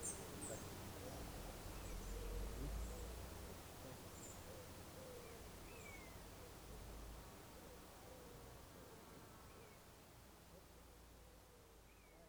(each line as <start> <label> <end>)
0.0 warbler is singing 3.2
4.1 warbler is singing 6.3